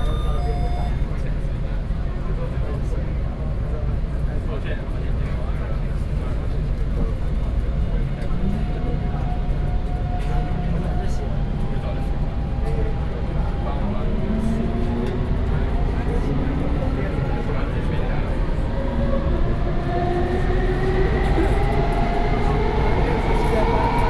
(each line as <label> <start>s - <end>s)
MRT train 0.0s - 24.0s